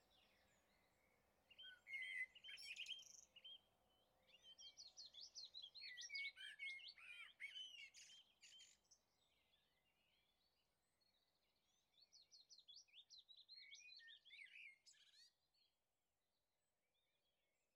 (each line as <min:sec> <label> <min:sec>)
0:00.0 birds sang 0:15.8